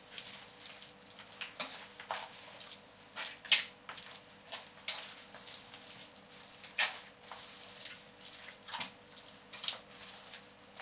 0.0s baking procedure 10.8s

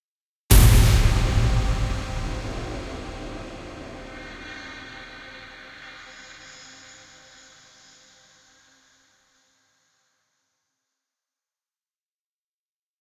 0.5s punch 3.5s
0.5s Hit/stab soundeffect 7.5s

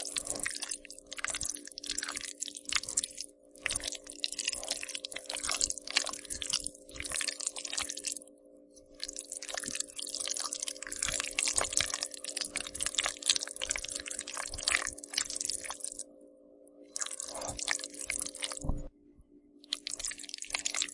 0.0s stirring a big bowl of rice and beans 8.2s
9.0s stirring a big bowl of rice and beans 16.0s

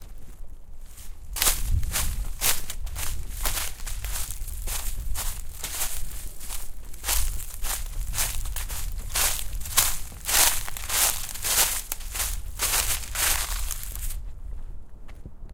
0.0s Footsteps Leaves 14.4s

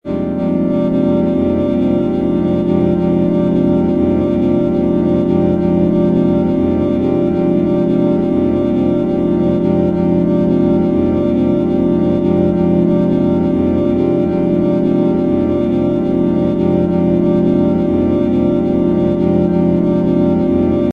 0.1s Drone Pad 20.9s

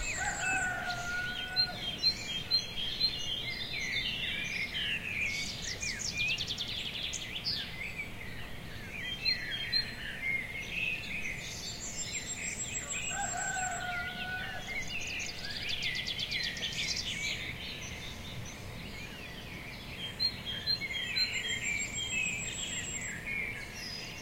0.0s birdsong 24.2s

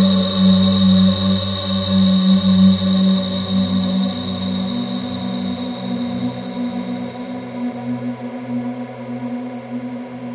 0.0s Drone 8.8s

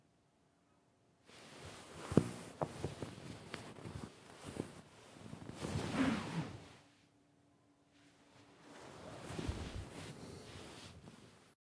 1.3s rubbing pillow 6.9s
8.5s rubbing pillow 11.6s

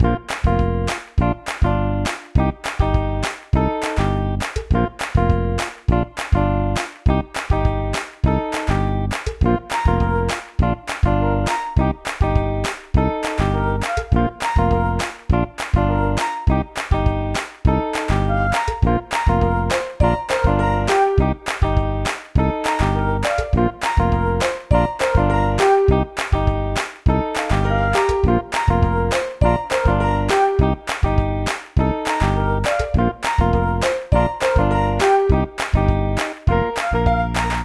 0.0s bass 37.6s
0.0s guitar 37.6s
0.0s piano 37.6s
0.3s clap 37.6s
13.6s flute 15.0s
23.0s flute 25.9s
32.4s flute 35.4s
36.6s flute 37.6s

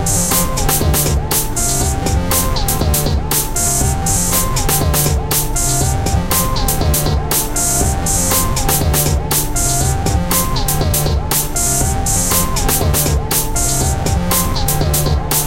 0.0s analog synths 15.4s
0.0s drums 15.4s

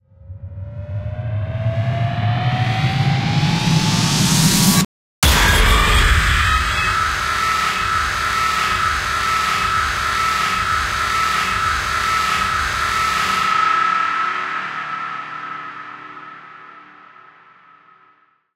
5.2s scream 18.1s

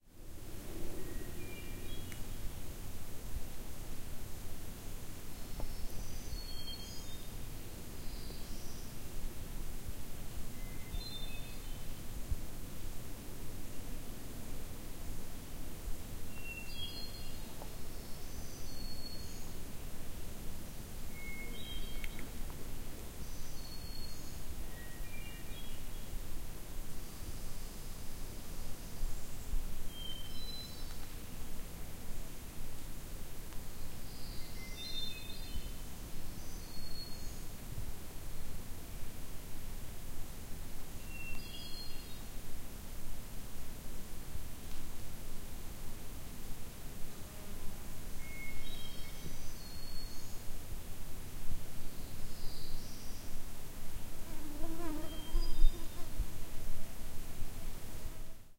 0.0s Slight wind in the leaves 58.5s
41.1s other small birds 42.3s
48.3s other small birds 50.5s
54.6s other small birds 56.2s

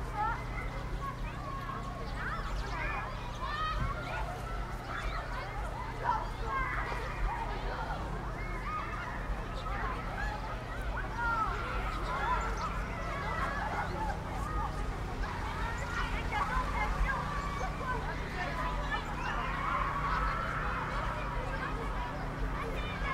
0.0s cars 23.1s
0.0s children 23.1s
0.0s trucks 23.1s

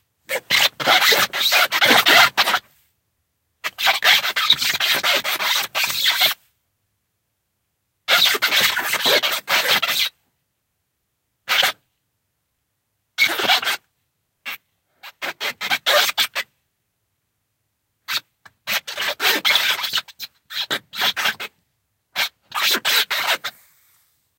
0.3s squeak 2.6s
3.6s squeak 6.4s
8.1s squeak 10.2s
11.5s squeak 11.8s
13.2s squeak 13.8s
14.5s squeak 16.5s
18.1s squeak 21.5s
22.2s squeak 23.5s

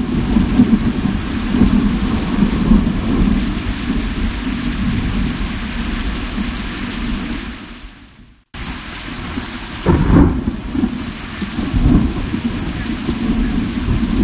0.0s Loud Thunder 6.3s
0.0s Heavy Rain 14.2s
9.2s Loud Thunder 14.2s

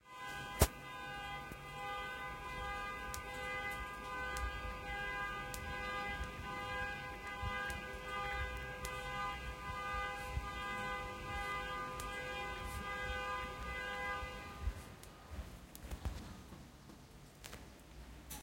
0.0s Car alarm 14.7s

